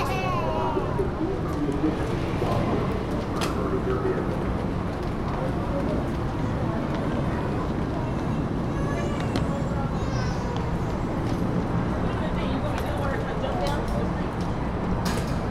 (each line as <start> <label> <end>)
0.0 People are heard walking by with their luggage 15.5
0.2 cars move from left to right 8.7